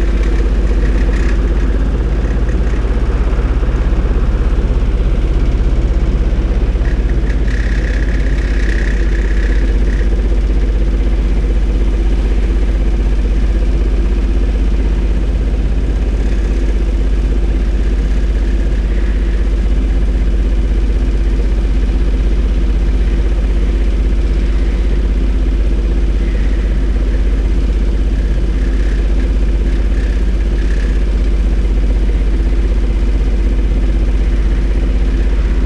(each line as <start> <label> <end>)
0.0 generator 35.6
15.3 sewer works site 35.6